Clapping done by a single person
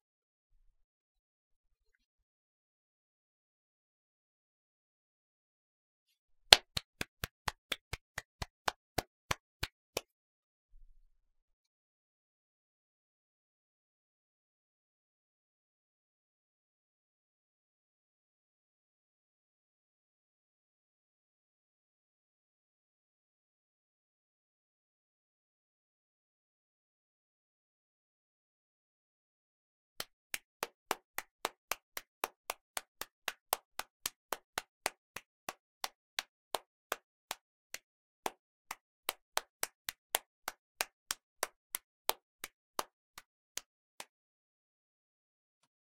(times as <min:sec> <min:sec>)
0:06.5 0:10.1, 0:30.0 0:44.2